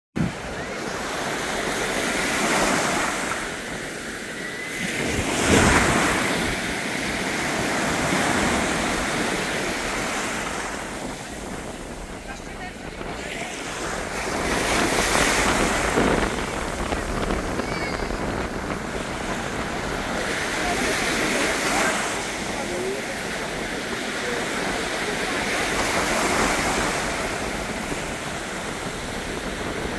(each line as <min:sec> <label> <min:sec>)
0:00.2 Sea Waves 0:29.9